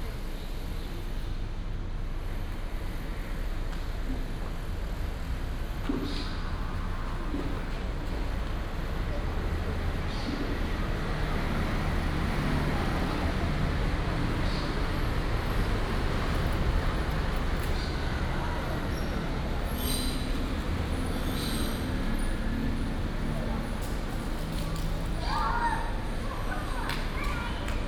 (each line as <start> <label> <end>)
2.1 Traffic Sound 27.8
21.8 Children were playing 27.8